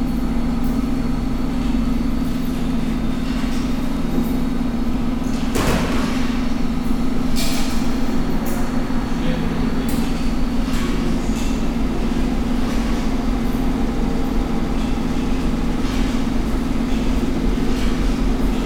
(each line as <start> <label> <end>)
0.0 washing machines operating 18.6